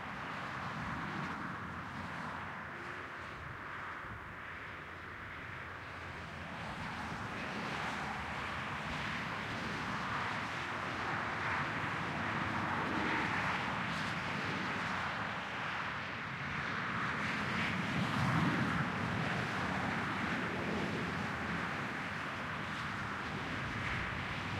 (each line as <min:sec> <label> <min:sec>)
0:00.0 passby of cars 0:24.5